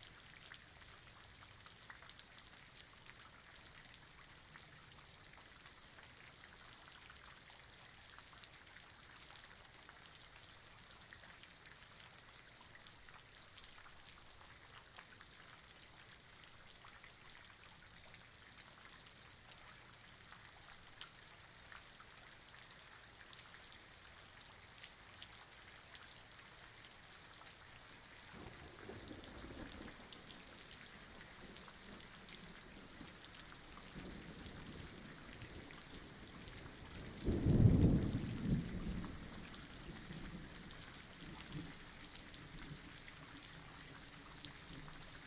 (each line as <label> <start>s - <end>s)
Rain 0.0s - 45.2s
Thunder 37.2s - 39.2s